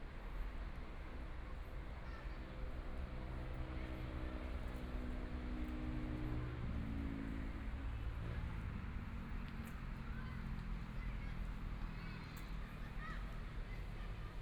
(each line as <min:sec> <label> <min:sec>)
0:08.4 Students in the game area 0:14.4